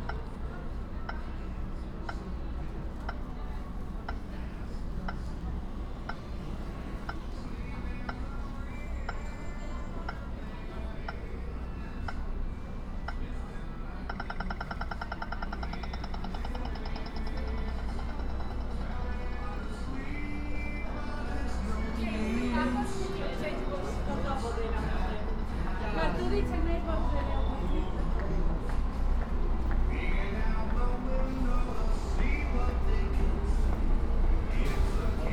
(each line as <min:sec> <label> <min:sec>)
0:14.0 traffic signals 0:28.4